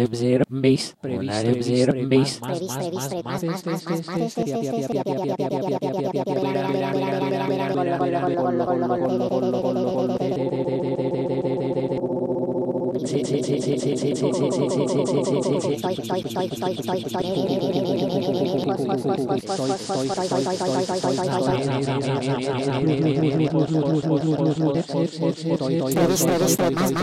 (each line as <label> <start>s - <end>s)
rapping 0.0s - 10.4s